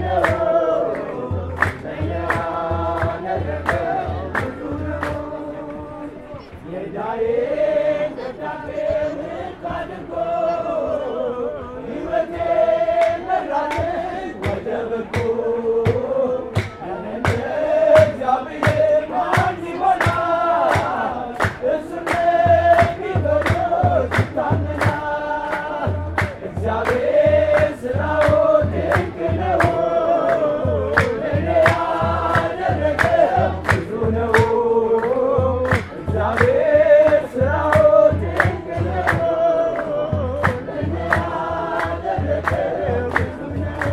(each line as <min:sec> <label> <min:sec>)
0:00.0 Songs 0:43.9